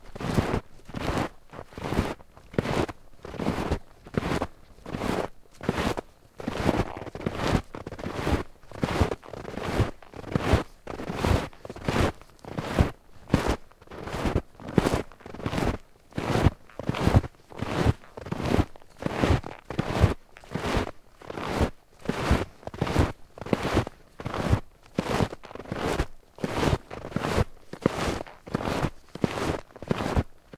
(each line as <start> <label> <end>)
0.0 Walking in very soft snow while wearing snowshoes 30.5